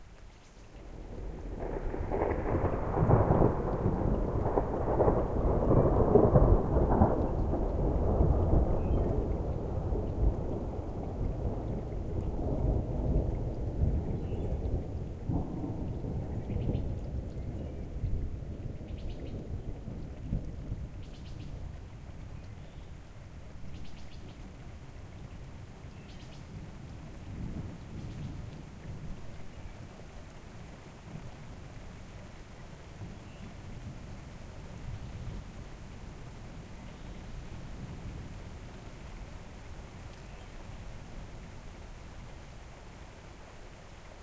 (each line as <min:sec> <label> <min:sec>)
0:00.8 Rolling thunder 0:22.1